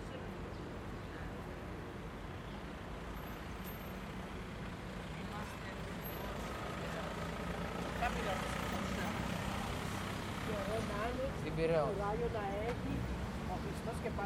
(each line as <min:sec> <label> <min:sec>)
0:00.0 people passing by, talking 0:02.1
0:00.0 Mild traffic 0:14.2
0:04.4 people passing by, talking 0:14.2